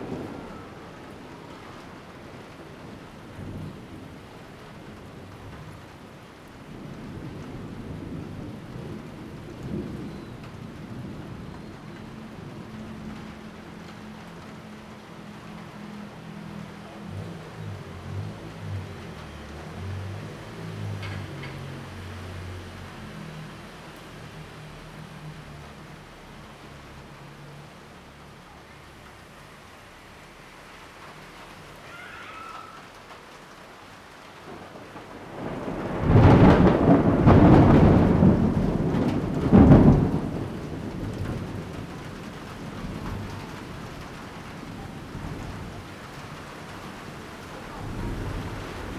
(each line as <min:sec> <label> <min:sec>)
0:00.0 Thunderstorm coming 0:19.3
0:34.4 Thunderstorm coming 0:48.9